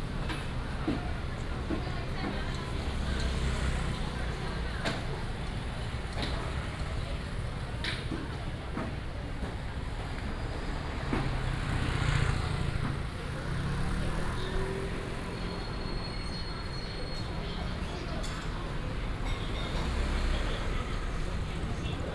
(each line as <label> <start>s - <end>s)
Walking in a small alley 0.0s - 22.1s
traffic sound 0.0s - 22.1s
vendors peddling 9.9s - 22.1s